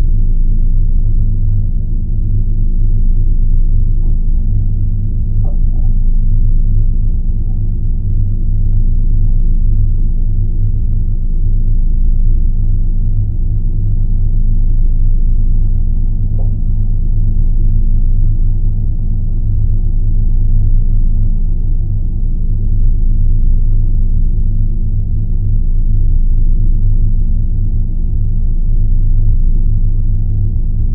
0.0s pump drone 30.9s

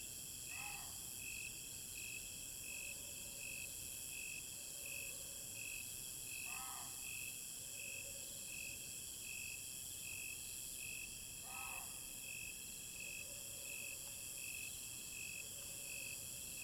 0.4s Insect cry 1.4s
6.3s Insect cry 7.2s
11.4s Insect cry 12.4s

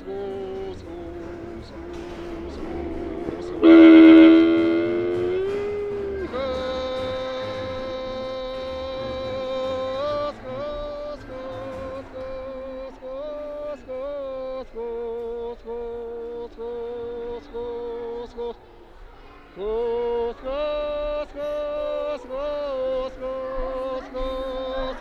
0.0s mongolian milking songs to calm cows and yaks 18.5s
0.0s enviromental sounds of museum 25.0s

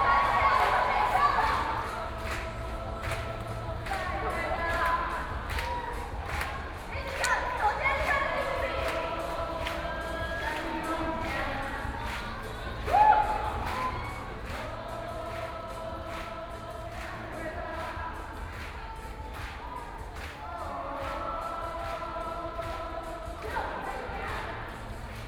0.0s Sit-in protest 25.2s

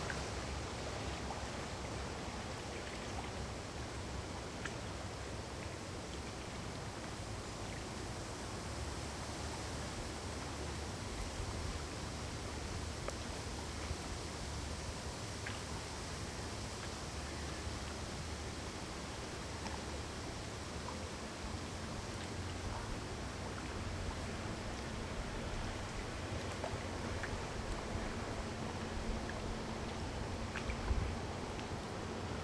15.4s water sounds 32.4s

